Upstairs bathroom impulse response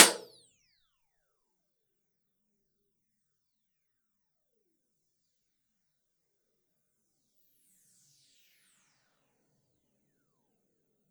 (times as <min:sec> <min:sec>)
0:00.0 0:00.3